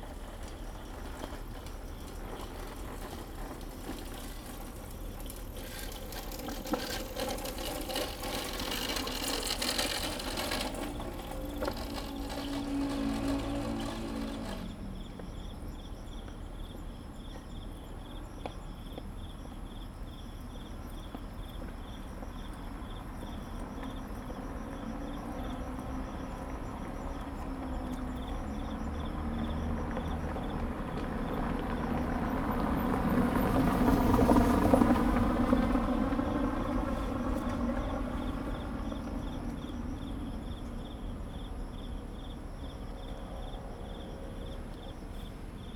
0.0s Bicycle sound 15.2s
0.0s Traffic Sound 15.7s
0.0s MRT trains through 15.8s
0.0s Insect sounds 45.7s
22.6s Traffic Sound 45.7s

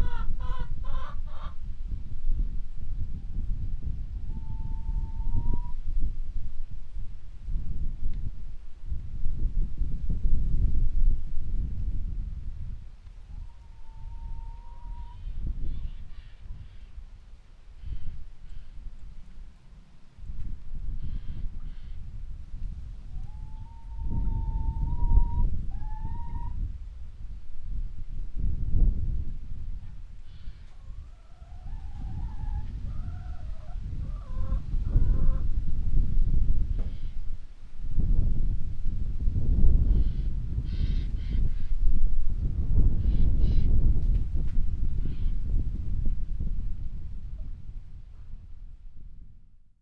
0.0s windy morning 49.7s
0.0s flock of hens waiting to be released from a shed 1.6s
30.3s flock of hens waiting to be released from a shed 35.5s

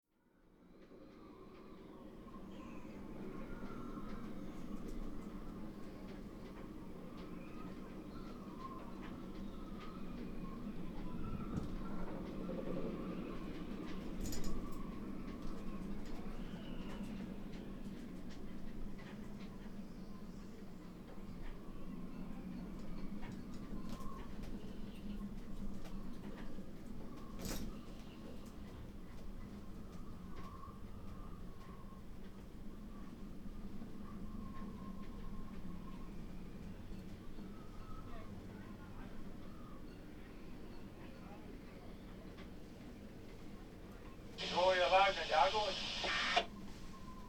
44.4s radio traffic on channel 73 46.5s

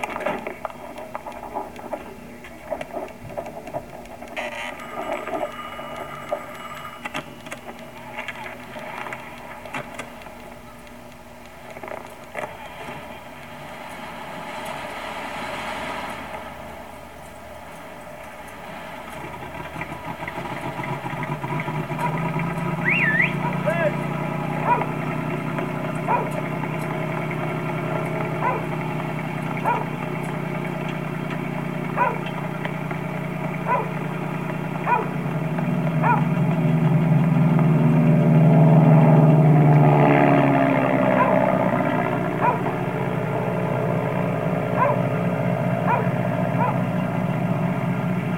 2.6s looped audio message 14.0s
22.8s looped audio message 24.7s

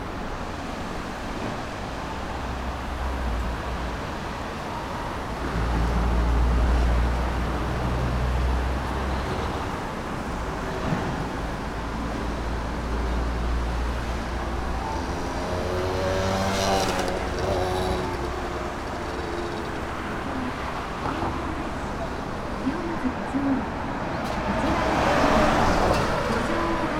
0.0s cars 26.9s
0.0s river 26.9s
13.7s traffic signals 22.9s
14.6s mopeds 22.4s

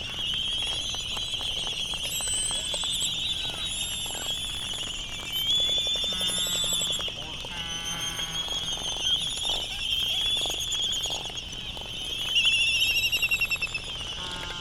0.0s voices 12.2s
0.0s canary song 14.6s
0.0s background noise from buggies 14.6s
0.0s laysan calls and bill clapperings 14.6s

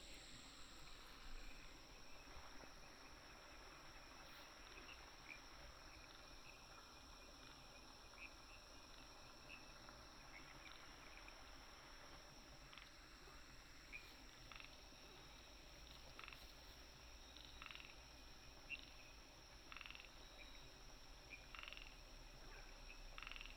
12.6s Frog sounds 20.5s
21.3s Frog sounds 23.5s

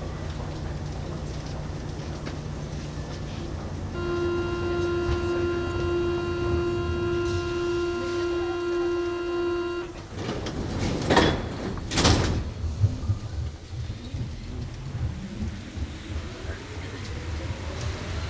0.0s Metro trip 17.9s
0.0s wind 18.2s

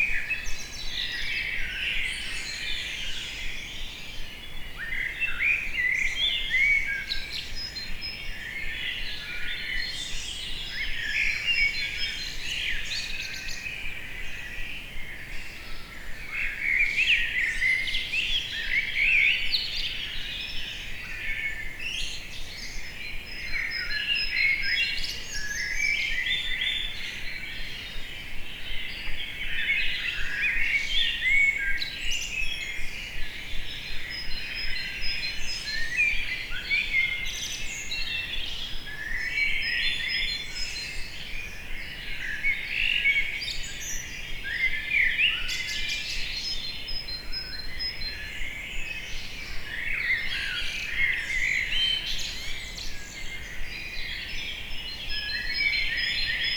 0.0s birds 56.5s

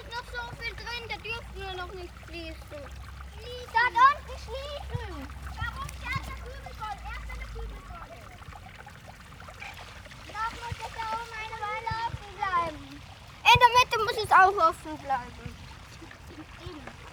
0.0s Children direct and play with water flows 17.1s
13.4s Arguments over what to do 15.3s

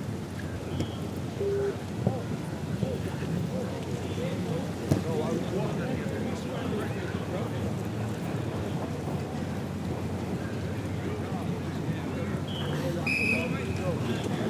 0.4s young rugby team doing a four cone exercise 14.4s

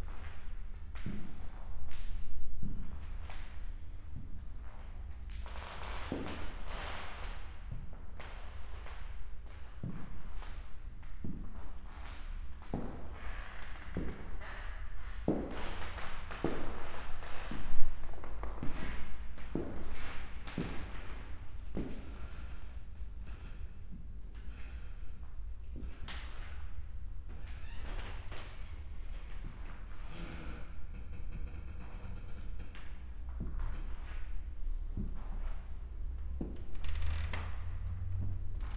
32.4s walk through exhibition halls, parquet 38.7s

